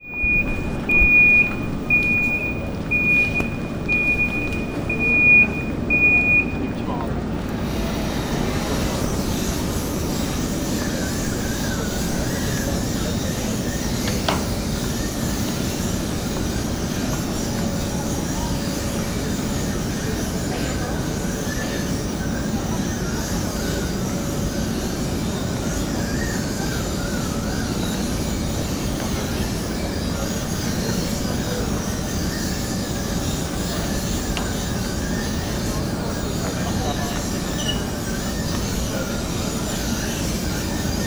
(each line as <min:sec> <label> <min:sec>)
0:32.0 squeak og moving parts of the luggage belt 0:41.0